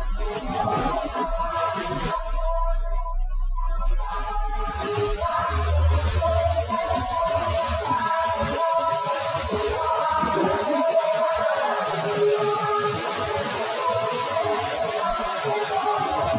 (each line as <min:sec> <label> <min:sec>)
0:04.6 Dancing Canimals 0:16.3